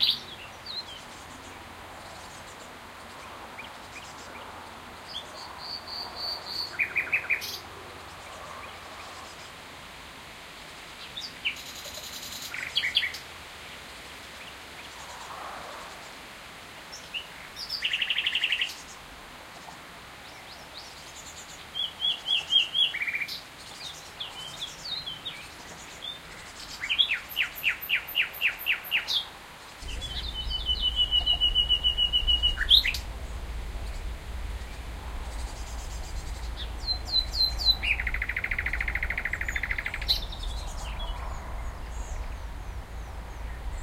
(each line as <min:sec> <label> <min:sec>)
0:00.0 nightingale was singing its beautiful song 0:09.5
0:11.0 nightingale was singing its beautiful song 0:13.3
0:16.9 nightingale was singing its beautiful song 0:19.1
0:20.2 nightingale was singing its beautiful song 0:43.8